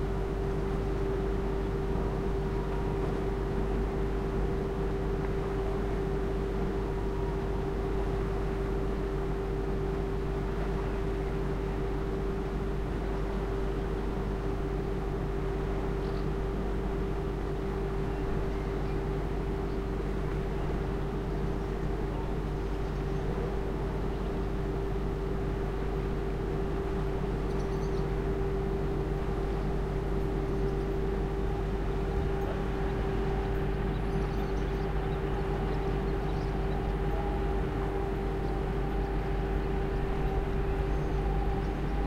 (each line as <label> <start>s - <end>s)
water 0.0s - 42.0s
boat engine 28.1s - 42.0s